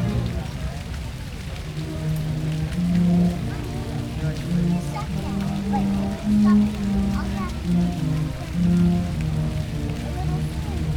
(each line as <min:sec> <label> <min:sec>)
0:00.0 band medley near fountain 0:10.9